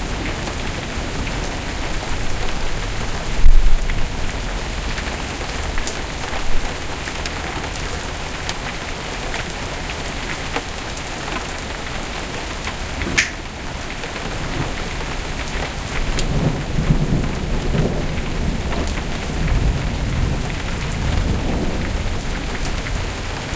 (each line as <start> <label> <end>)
0.0 thunder 7.2
0.0 Heavy Rain 23.5
0.0 Huge hailstones 23.5
0.0 wind 23.5
12.9 thunder 23.5